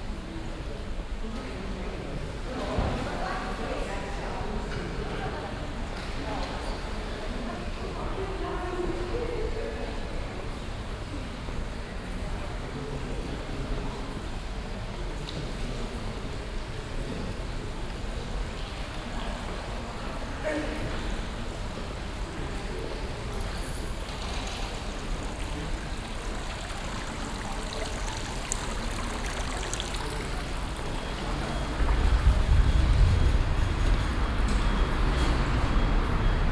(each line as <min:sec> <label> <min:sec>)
0:23.3 geldautomaten 0:32.5